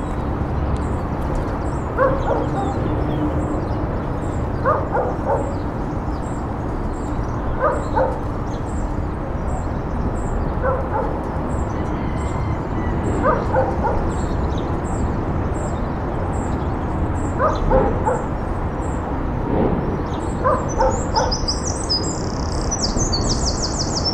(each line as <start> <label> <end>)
0.0 Traffic 24.1
0.0 birds 24.1
2.0 dog barks 2.9
4.6 dog barks 5.7
7.6 dog barks 8.4
10.6 dog barks 11.2
13.2 dog barks 14.3
17.4 dog barks 18.4
20.4 dog barks 21.5